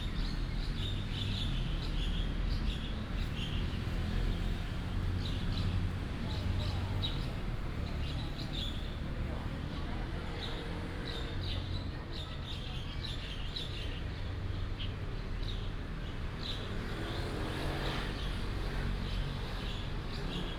1.4s Traffic sound 12.4s

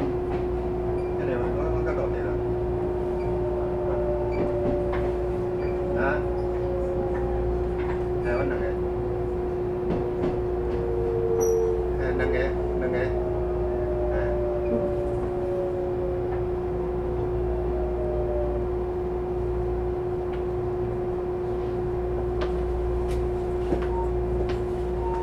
0.0s Train crossing 25.2s
0.0s Trains traveling 25.2s
0.7s Train broadcast message 15.8s

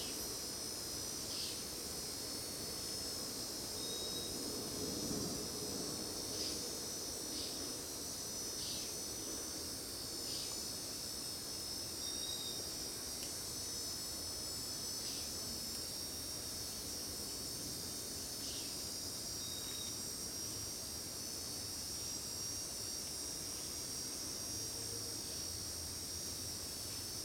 0.0s Cicadas 27.2s

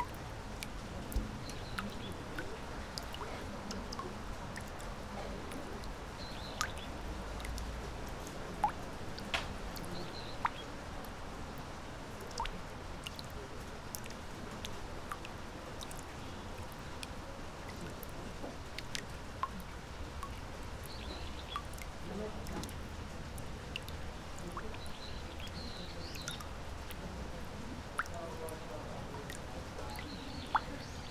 0.0s droplets hitting surface of water on a big plate 31.1s
20.9s voices of children and teachers 31.1s

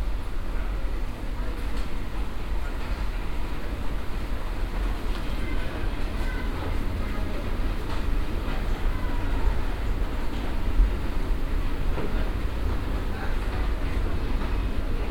0.5s people 15.1s

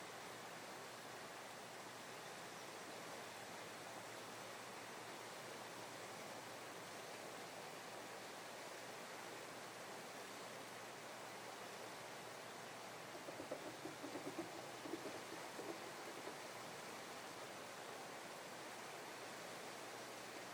13.1s River Suir Movement 16.9s

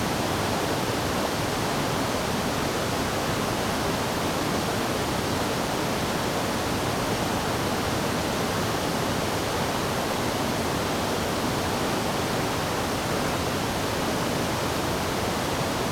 0.0s waterfall 15.9s

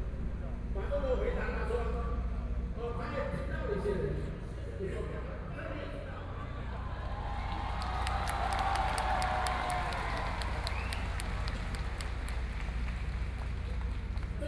0.0s Speech 7.0s
6.6s People cheering 14.4s

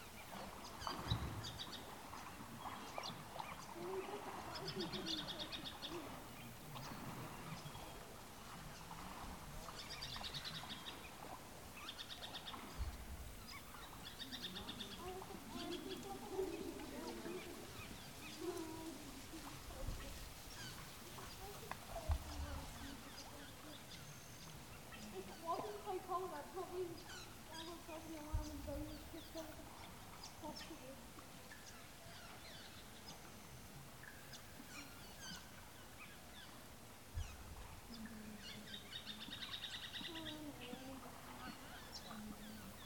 0.0s Tourists take a dip at the water hole 42.8s

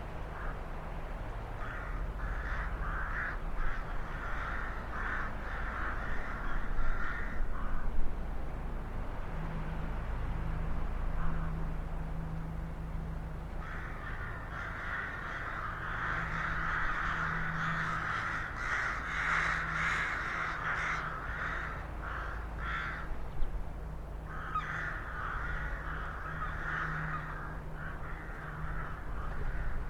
0.3s Crows 0.6s
1.6s Crows 8.0s
11.2s Crows 11.6s
13.6s Crows 23.2s
24.2s Crows 29.8s

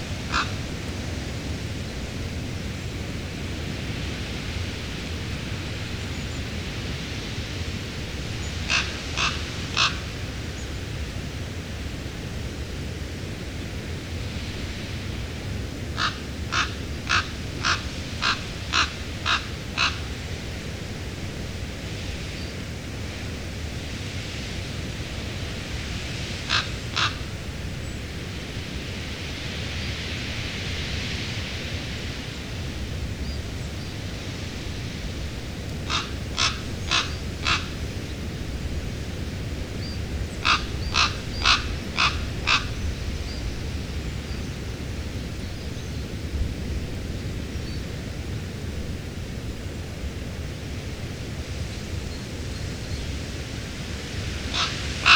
0.0s Blustery, treetop winds 55.1s
0.3s crows 0.6s
8.7s crows 10.1s
16.0s crows 20.1s
26.5s crows 27.3s
35.8s crows 37.8s
40.4s crows 42.8s
54.5s crows 55.1s

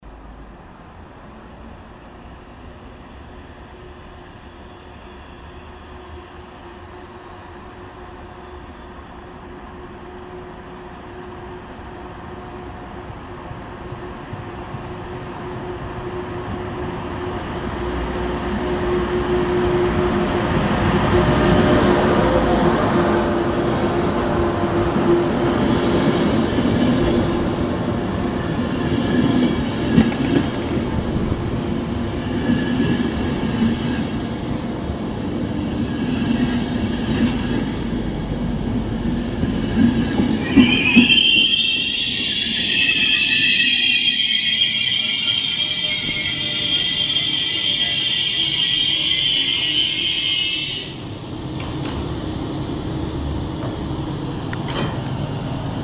13.1s arriving trains futuristic fury 55.8s

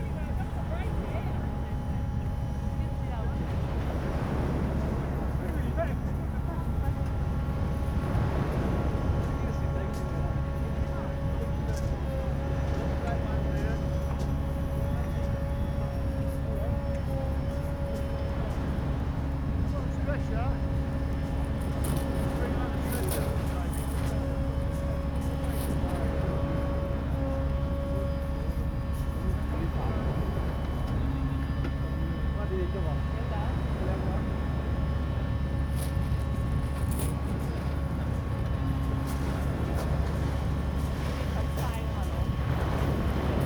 0.0s life boat engine is heard speeding towards the shore 43.4s

